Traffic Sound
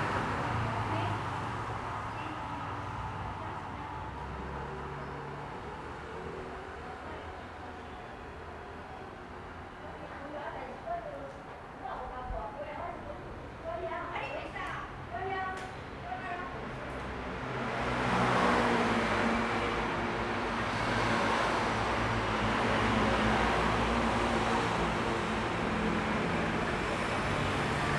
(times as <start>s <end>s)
14.9s 27.9s